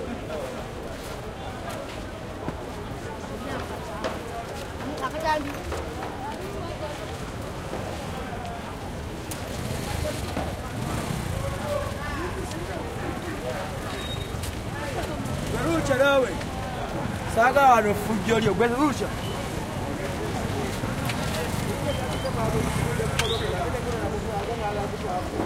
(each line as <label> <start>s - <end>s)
voices 0.0s - 25.4s
throaty motorcycles pass 9.0s - 25.4s